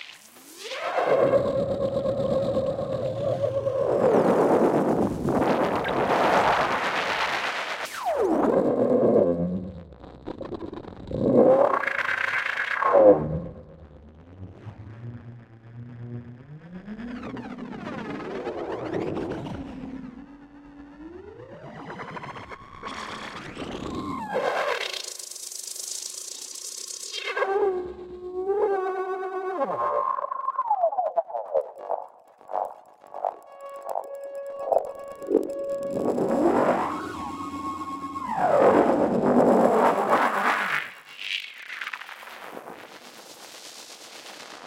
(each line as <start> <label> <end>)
30.0 Frequency and filter sweeps 40.8